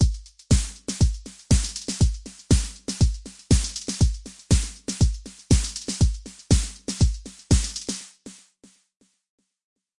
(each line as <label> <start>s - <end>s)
drumloop 0.0s - 8.8s